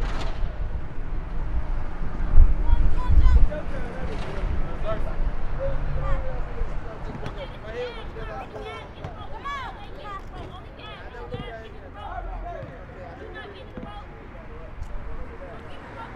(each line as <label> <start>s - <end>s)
Basketball 7.0s - 11.8s
Basketball 12.5s - 14.3s